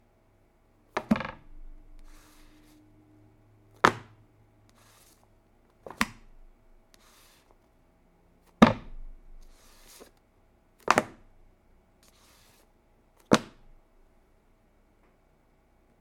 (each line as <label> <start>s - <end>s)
Softcover book hitting table 1.0s - 2.6s
Softcover book hitting table 3.8s - 4.1s
Softcover book hitting table 5.9s - 6.3s
Softcover book hitting table 8.6s - 10.1s
Softcover book hitting table 10.8s - 11.2s
Softcover book hitting table 13.3s - 13.6s